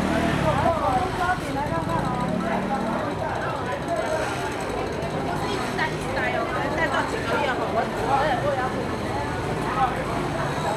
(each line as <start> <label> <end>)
0.0 Walking in the traditional market 10.7